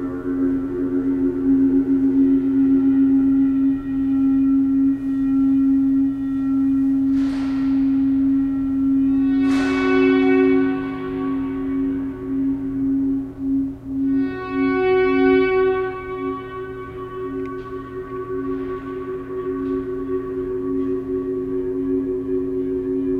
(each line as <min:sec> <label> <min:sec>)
0:00.0 feedback loop 0:23.1